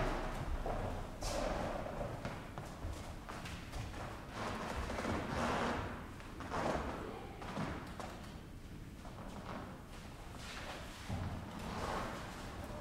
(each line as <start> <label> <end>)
0.0 people on a creaky linoleum floor, walking 12.8